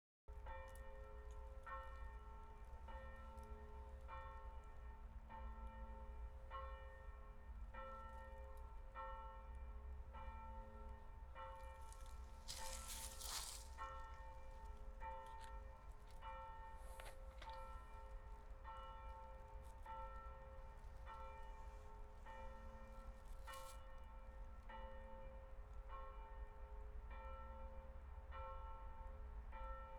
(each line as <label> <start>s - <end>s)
Church bells 0.3s - 29.9s
rustling 11.8s - 14.4s